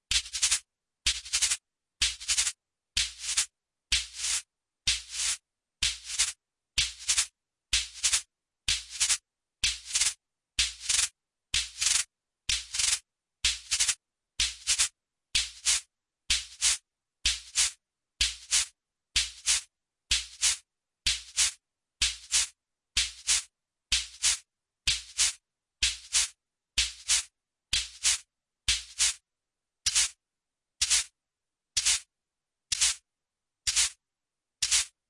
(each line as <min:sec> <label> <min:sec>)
0:00.1 percussion 0:29.2
0:29.8 percussion 0:30.2
0:32.7 percussion 0:33.0
0:33.7 percussion 0:34.0
0:34.6 percussion 0:35.0